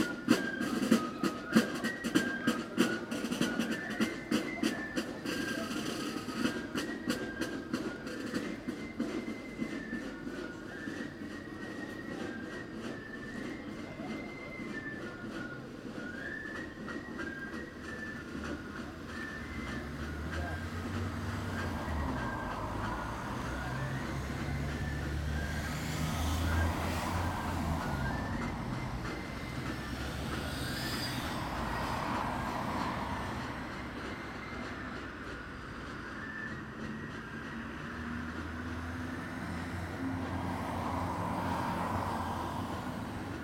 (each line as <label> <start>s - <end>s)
Drum & Fife band setting out past the Church, playing loudly 0.0s - 43.4s